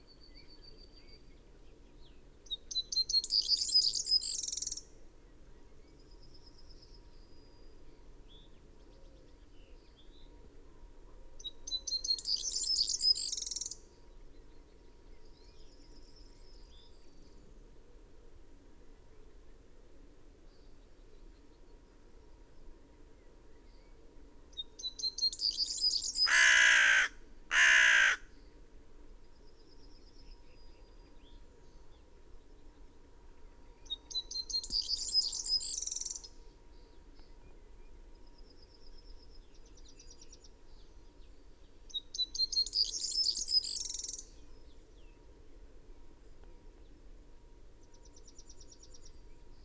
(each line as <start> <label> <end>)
0.0 background noise 49.6
24.8 blackbird 28.2
25.8 pheasant 28.4
26.0 blue tit 28.2
26.2 crow 28.3